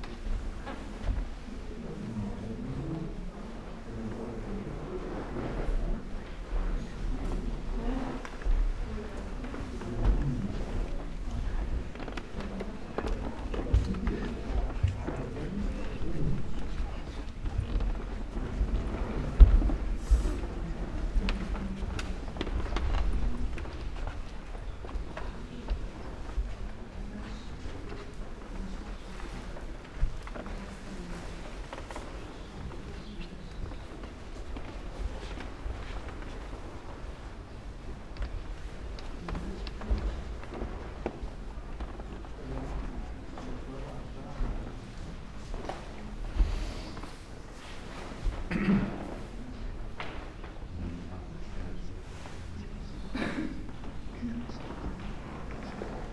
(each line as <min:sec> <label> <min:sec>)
0:00.0 aroundgoers and their steps 0:56.1
0:00.0 slow walk through rooms with different kind of wooden floors and parquet 0:56.1
0:00.0 whisperings 0:56.1